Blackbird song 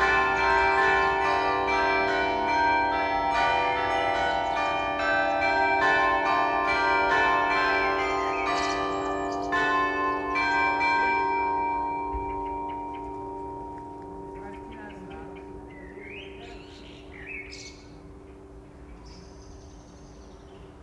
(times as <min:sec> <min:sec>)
0:08.2 0:09.7, 0:12.2 0:20.8